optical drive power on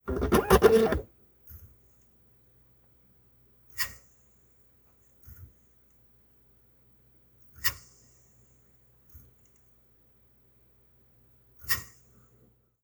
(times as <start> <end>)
0.1 1.0